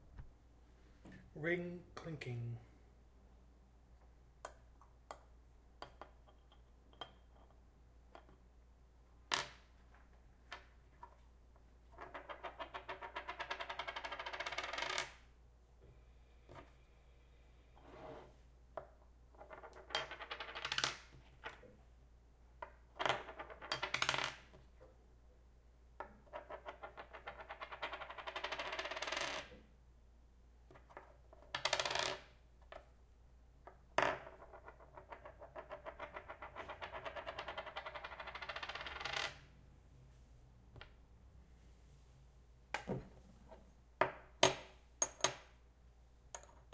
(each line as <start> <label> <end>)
5.8 Spinning a small coin on a wooden table 8.4
9.2 Spinning a small coin on a wooden table 15.4
16.4 Spinning a small coin on a wooden table 16.9
17.7 Spinning a small coin on a wooden table 21.8
22.6 Spinning a small coin on a wooden table 24.9
26.0 Spinning a small coin on a wooden table 29.7
30.7 Spinning a small coin on a wooden table 33.0
33.6 Spinning a small coin on a wooden table 39.6
42.7 Spinning a small coin on a wooden table 45.6
46.3 Spinning a small coin on a wooden table 46.7